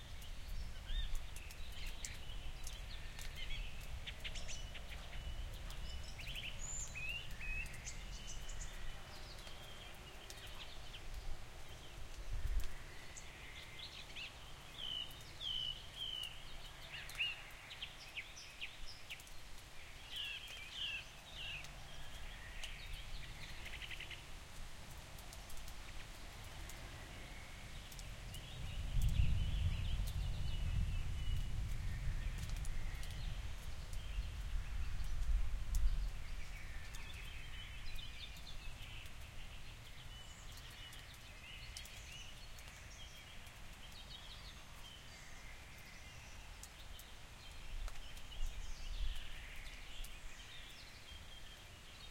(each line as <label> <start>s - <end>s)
rain 0.0s - 52.1s